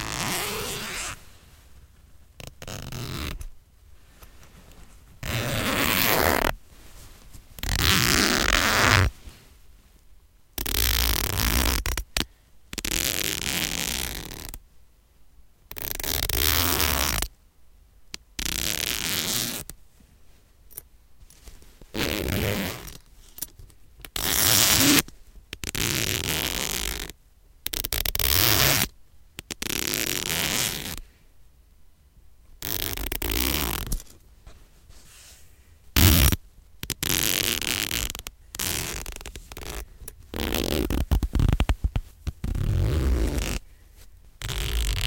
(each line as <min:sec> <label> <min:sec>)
0:00.0 zipper zipping & unzipping 0:01.2
0:00.0 rustle of fabric 0:14.6
0:02.4 zipper zipping & unzipping 0:03.5
0:05.2 zipper zipping & unzipping 0:06.6
0:07.6 zipper zipping & unzipping 0:09.1
0:10.6 zipper zipping & unzipping 0:12.2
0:12.8 zipper zipping & unzipping 0:14.6
0:15.7 zipper zipping & unzipping 0:17.3
0:18.4 zipper zipping & unzipping 0:19.7
0:18.4 rustle of fabric 0:27.2
0:21.9 zipper zipping & unzipping 0:23.0
0:24.2 zipper zipping & unzipping 0:25.0
0:25.6 zipper zipping & unzipping 0:27.1
0:27.7 zipper zipping & unzipping 0:28.9
0:29.5 zipper zipping & unzipping 0:31.0
0:32.4 rustle of fabric 0:45.0
0:32.6 zipper zipping & unzipping 0:34.0
0:36.0 zipper zipping & unzipping 0:43.6
0:44.4 zipper zipping & unzipping 0:45.0